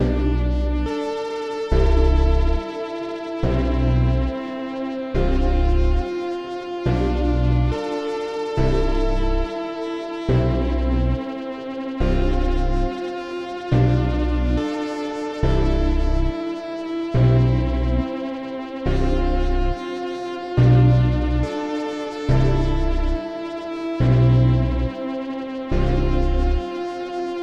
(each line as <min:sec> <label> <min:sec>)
0:00.0 bass 0:00.9
0:01.7 bass 0:02.6
0:03.4 bass 0:04.4
0:05.2 bass 0:06.1
0:06.9 bass 0:07.8
0:08.6 bass 0:09.5
0:10.3 bass 0:11.2
0:12.0 bass 0:13.0
0:13.7 bass 0:14.7
0:15.4 bass 0:16.4
0:17.2 bass 0:18.1
0:18.9 bass 0:19.8
0:20.6 bass 0:21.5
0:22.3 bass 0:23.2
0:24.0 bass 0:24.9
0:25.7 bass 0:26.6